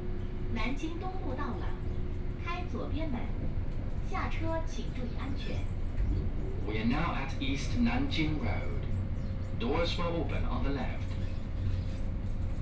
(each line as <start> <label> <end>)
0.0 train entering the station interchange 12.3